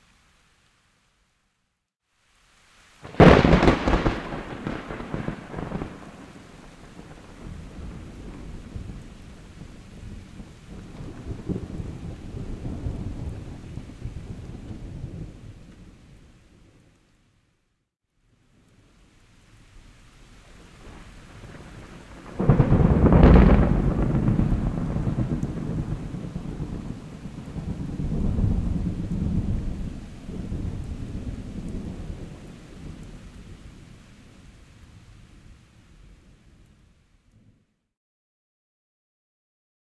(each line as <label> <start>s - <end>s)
Big Thunder Crashes 3.0s - 6.3s
Big Thunder Crashes 21.9s - 30.8s